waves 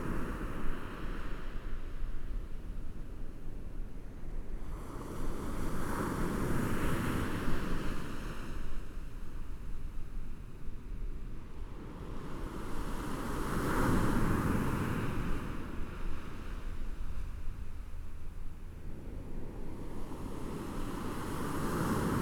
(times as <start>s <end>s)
11.4s 22.2s